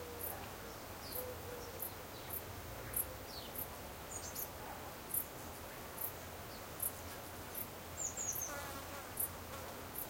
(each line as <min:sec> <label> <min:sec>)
0:00.0 steady light wind 0:10.0